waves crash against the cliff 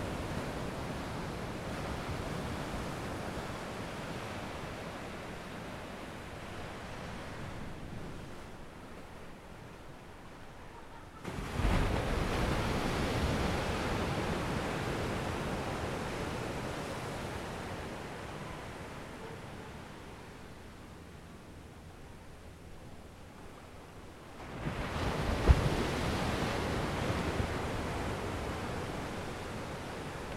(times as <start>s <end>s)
11.2s 18.8s, 24.4s 30.3s